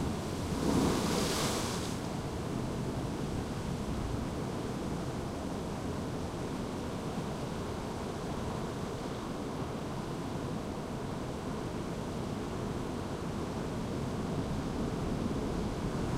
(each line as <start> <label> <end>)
0.1 waves breaking and splashing 2.1